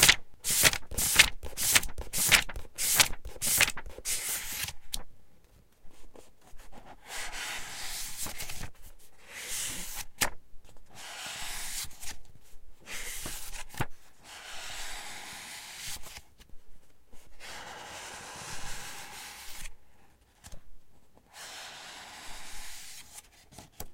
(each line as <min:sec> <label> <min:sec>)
0:00.0 Flipping through pages 0:05.1
0:07.6 Flipping through pages 0:08.9
0:09.5 Flipping through pages 0:10.8
0:11.4 Flipping through pages 0:12.3
0:12.9 Flipping through pages 0:14.0